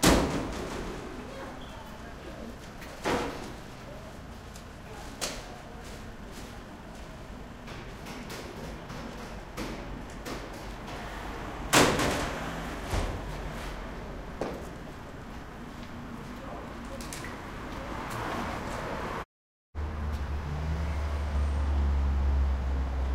buses 0:00.0 - 0:23.1
trucks 0:06.2 - 0:23.1
cars driving past 0:10.8 - 0:14.4
cars driving past 0:17.3 - 0:23.1

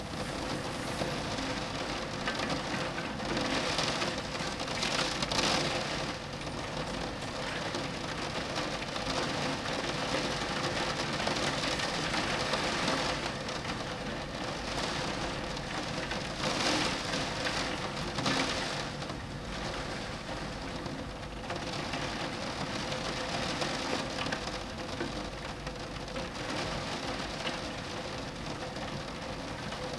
Moderate raindrops against a window 0:00.0 - 0:29.9

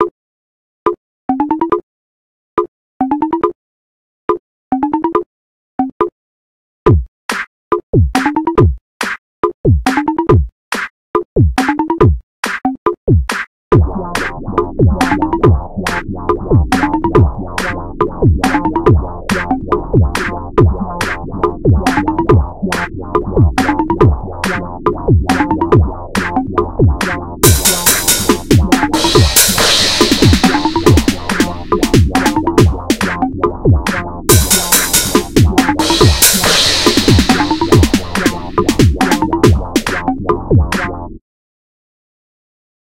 Bongo drum beat 0:09.4 - 0:10.5
Bongo drum beat 0:23.4 - 0:40.9

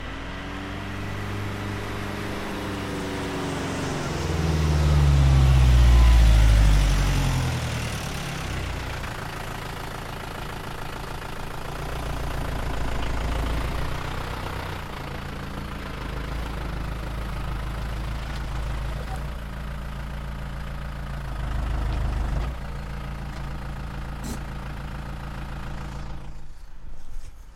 Exterior Reverse And Idle 0:00.0 - 0:27.5

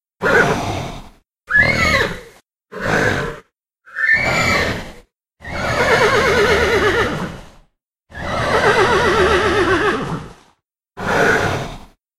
Centaur horse-human creature sounds 0:00.2 - 0:12.0
snort 0:00.2 - 0:01.9
neigh 0:00.2 - 0:12.0
snort 0:10.0 - 0:12.0

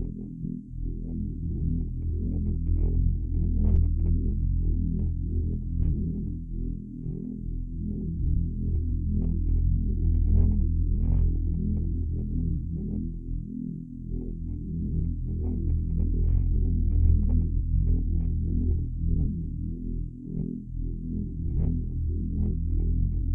Music 0:00.0 - 0:23.3

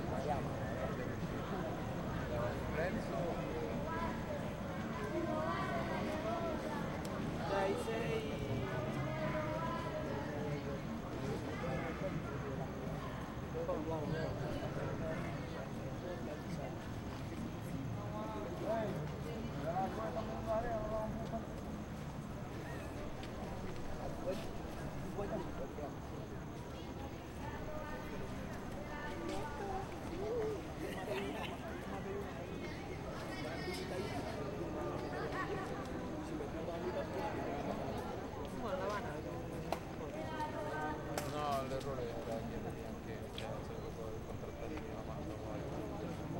close voices spanish 0:00.0 - 0:21.7
close voices spanish 0:22.4 - 0:46.3

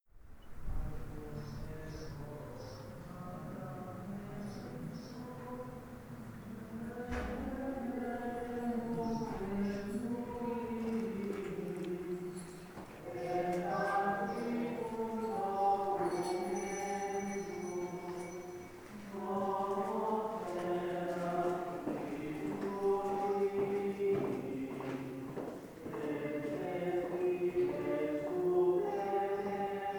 chanting 0:00.6 - 0:29.9
praying 0:01.0 - 0:29.9
sparrows 0:01.4 - 0:03.3
sparrows 0:04.2 - 0:05.4
sparrows 0:08.9 - 0:10.0
sparrows 0:12.1 - 0:16.8

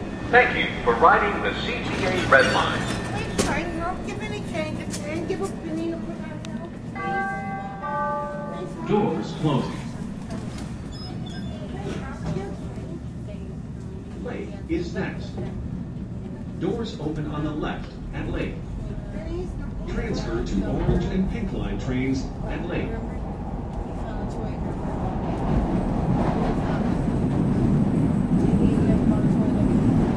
Doors closing 0:00.0 - 0:18.5
TrainArrives 0:00.0 - 0:30.1
voice announcing grand and state stop 0:00.1 - 0:06.2
voice announcing grand and state stop 0:06.8 - 0:10.0
voice announcing grand and state stop 0:19.8 - 0:23.1

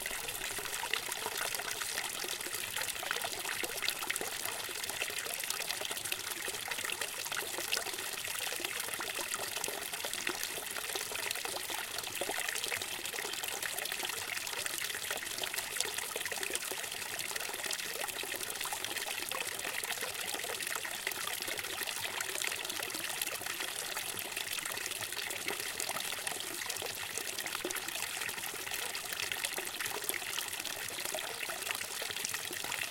Water streaming out of a small fountain and falling into a basin 0:00.0 - 0:32.9

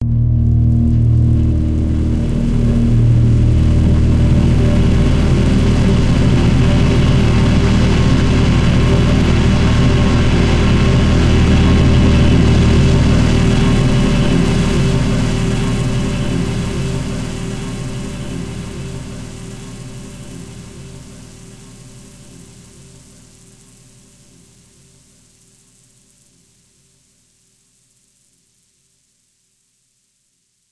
multisampled pad 0:00.0 - 0:25.4

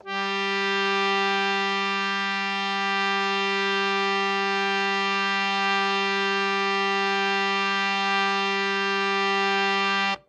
harmonium 0:00.0 - 0:10.2

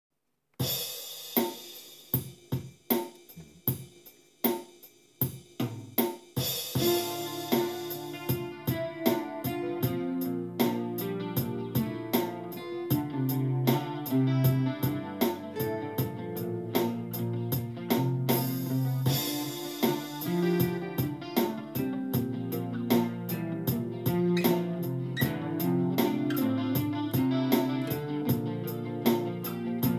Drums 0:00.6 - 0:29.9
E-Guitar 0:06.7 - 0:29.9
Acoustic Guitars 0:06.8 - 0:29.9

